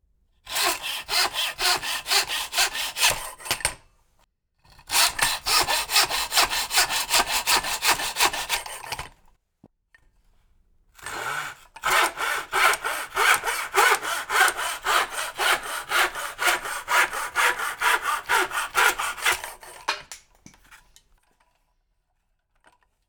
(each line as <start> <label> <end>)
0.5 hand miter saw cutting trim 3.8
4.8 hand miter saw cutting trim 9.2
11.0 hand miter saw cutting trim 20.8